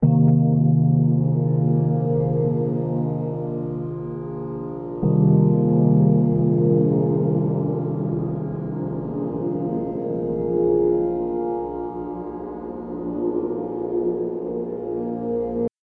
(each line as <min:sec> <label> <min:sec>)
0:00.0 spacey pad 0:15.7